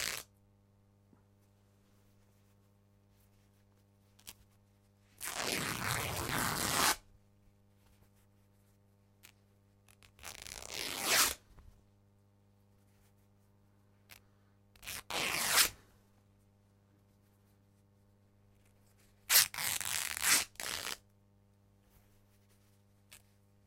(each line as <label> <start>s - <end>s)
Tearing Corduroy Shirt 0.0s - 0.3s
Tearing Corduroy Shirt 5.2s - 7.0s
Tearing Corduroy Shirt 9.9s - 11.4s
Tearing Corduroy Shirt 14.8s - 15.8s
Tearing Corduroy Shirt 19.3s - 21.0s